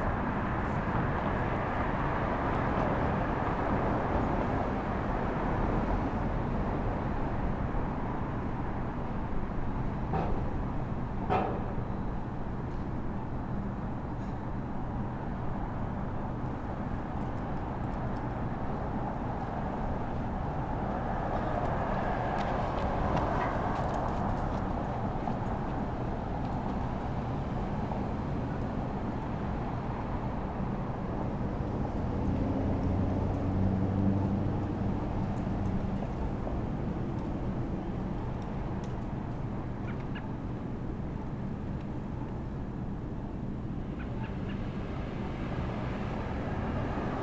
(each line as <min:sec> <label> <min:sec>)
0:00.0 a few cars 0:47.2